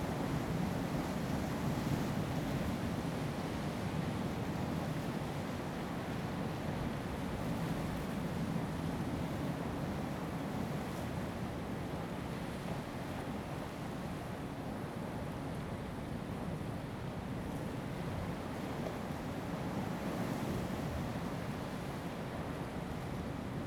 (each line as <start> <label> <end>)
9.1 waves 23.6